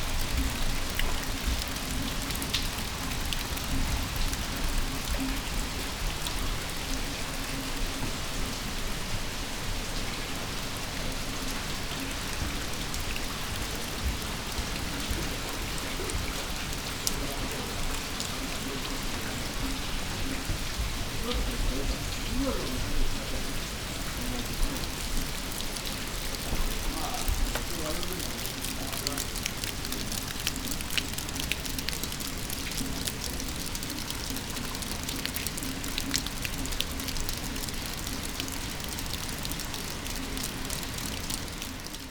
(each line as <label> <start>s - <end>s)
rain 0.0s - 42.1s